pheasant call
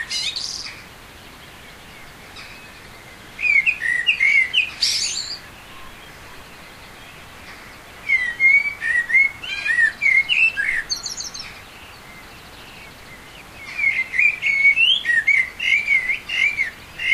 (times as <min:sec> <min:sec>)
0:03.4 0:11.7, 0:12.8 0:17.1